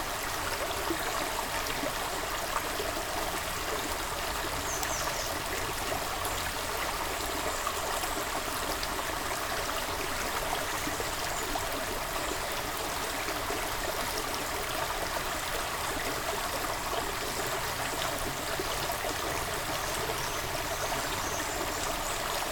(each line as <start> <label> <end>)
0.0 Seine river is flowing 22.5